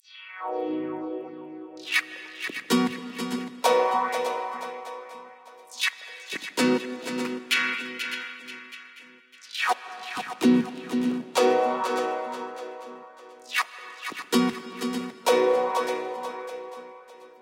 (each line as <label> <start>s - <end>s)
guitar manipulada 1.8s - 17.3s